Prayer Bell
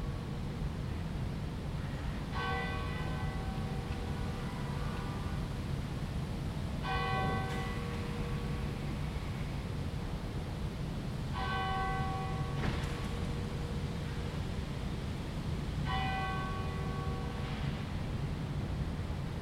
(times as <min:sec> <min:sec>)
0:02.3 0:05.4, 0:06.8 0:09.0, 0:11.4 0:14.6, 0:15.9 0:18.1